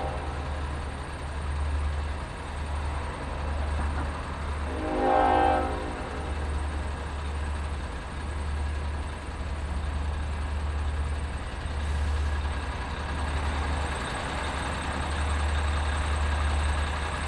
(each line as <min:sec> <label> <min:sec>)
0:00.0 Railway 0:17.2